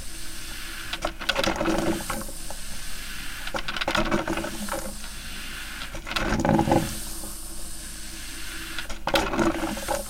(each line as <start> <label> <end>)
0.0 regular coffee machine 10.0